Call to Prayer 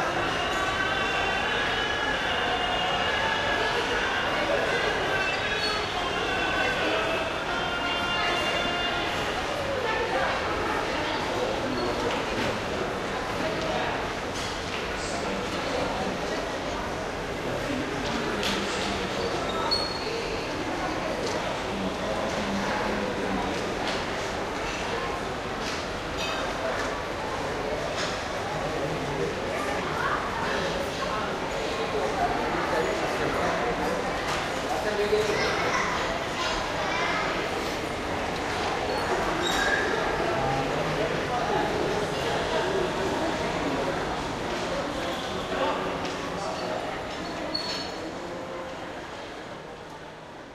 0.0s 9.4s

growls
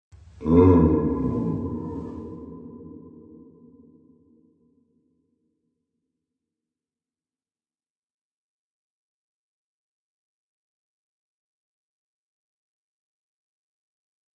0.4s 2.7s

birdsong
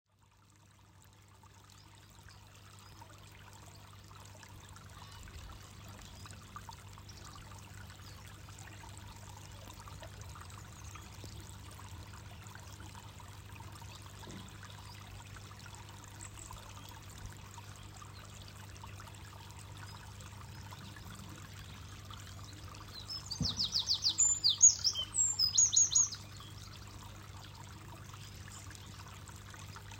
19.7s 29.4s

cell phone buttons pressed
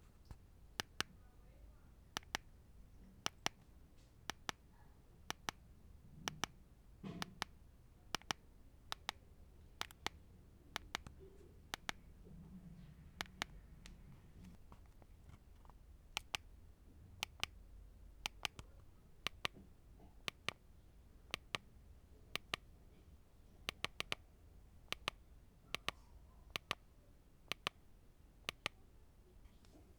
0.3s 1.1s, 2.2s 2.5s, 7.1s 9.2s, 9.8s 10.2s, 10.8s 12.0s, 14.7s 16.5s, 17.2s 17.6s, 18.2s 19.6s, 22.4s 22.6s, 23.7s 24.2s, 24.9s 26.8s, 27.5s 27.8s, 28.4s 28.8s

